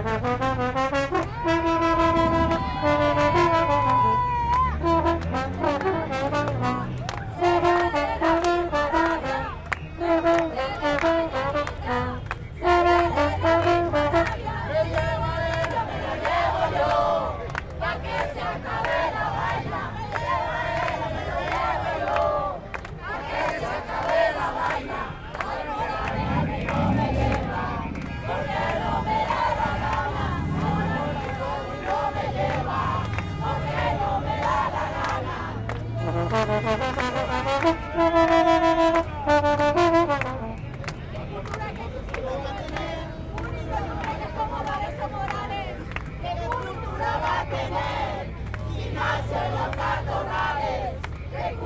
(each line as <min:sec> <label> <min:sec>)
0:00.0 Trumpet 0:15.6
0:00.0 Trombón 0:17.2
0:13.1 people singing 0:36.0
0:24.1 Trumpet 0:41.0
0:25.6 Trombón 0:41.0
0:41.2 people singing 0:51.6